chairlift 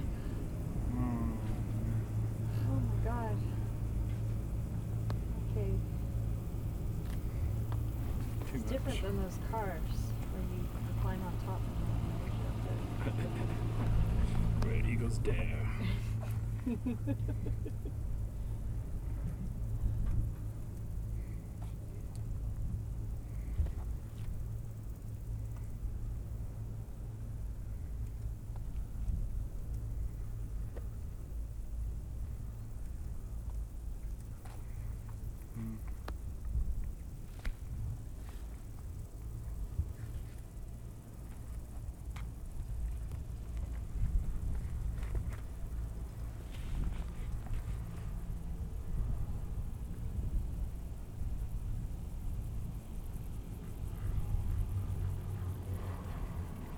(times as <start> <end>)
3.8 20.5